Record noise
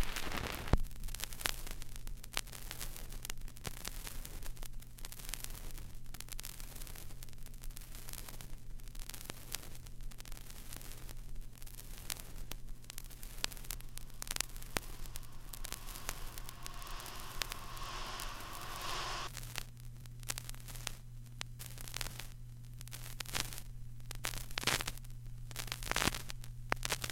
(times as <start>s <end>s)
12.5s 23.5s